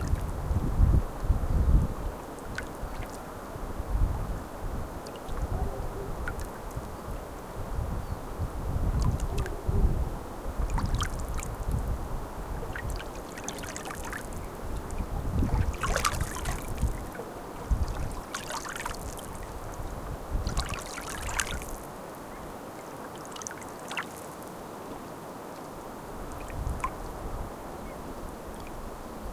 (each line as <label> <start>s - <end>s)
water 0.0s - 29.3s
wind 0.0s - 29.3s
dogs barking in a distance 5.4s - 6.4s
dogs barking in a distance 9.3s - 10.0s